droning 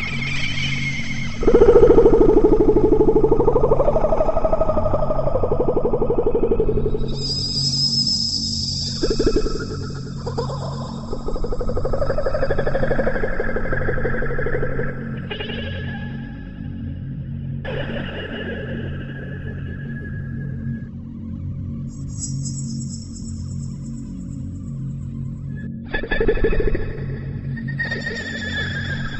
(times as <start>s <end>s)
0.0s 7.7s